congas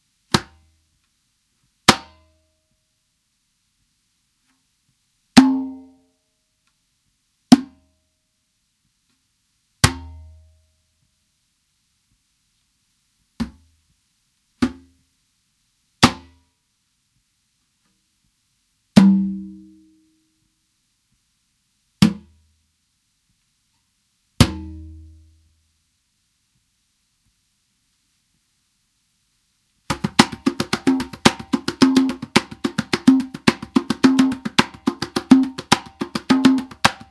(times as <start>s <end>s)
29.9s 37.1s